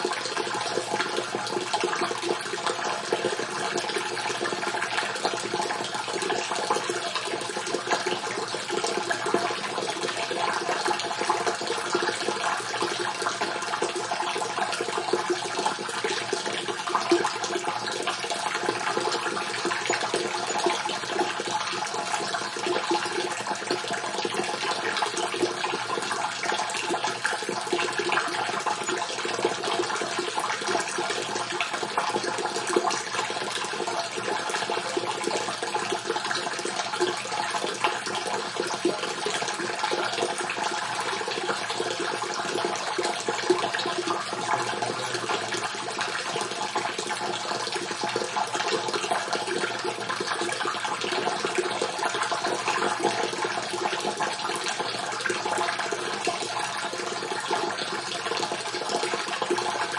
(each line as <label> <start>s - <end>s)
Water falling in a half-empty, reverberant tank 0.0s - 59.9s